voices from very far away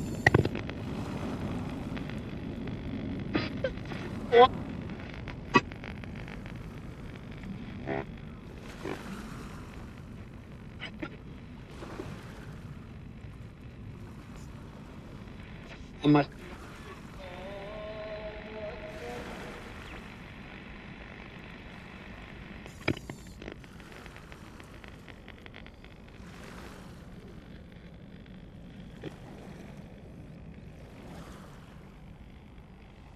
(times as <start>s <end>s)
15.6s 20.6s